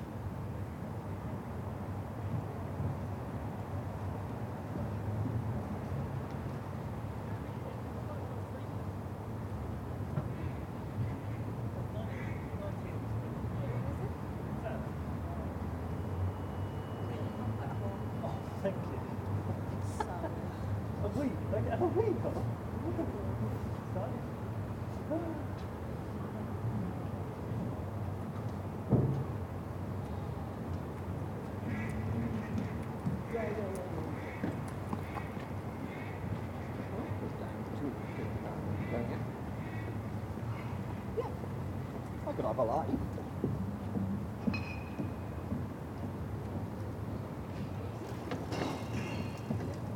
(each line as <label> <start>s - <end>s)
walkers 30.0s - 49.9s
bikes 47.4s - 49.9s